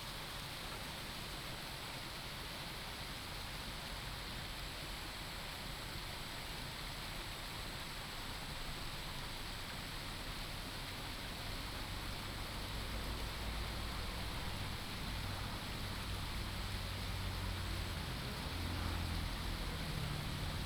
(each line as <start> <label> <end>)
0.0 stream 20.6
14.1 Traffic sound 20.6